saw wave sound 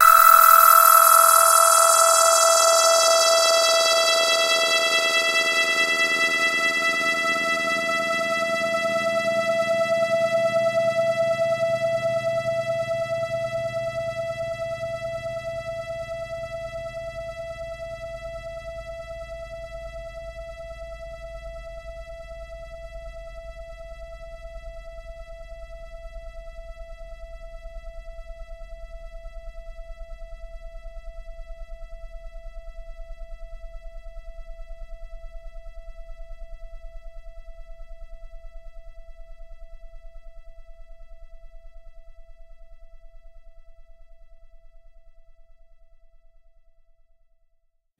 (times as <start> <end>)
0.0 5.2